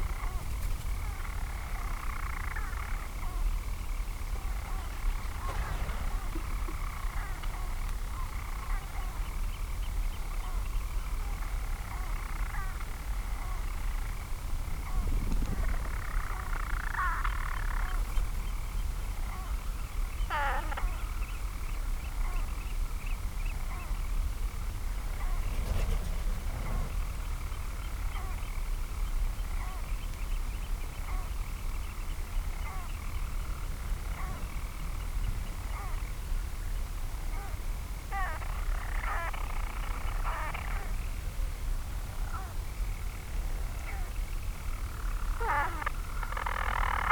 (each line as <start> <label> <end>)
0.0 manx shearwaters 47.1
3.7 storm petrel singing 9.4